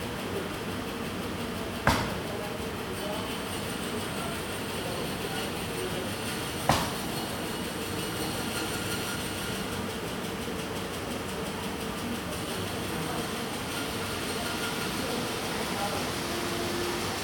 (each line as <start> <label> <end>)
0.2 voices 17.2
10.5 ventilation 17.2